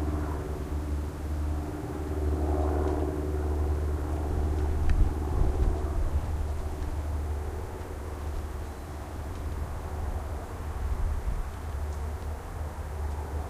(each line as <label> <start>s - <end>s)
raw airplanes 0.0s - 13.4s
wind 0.0s - 13.4s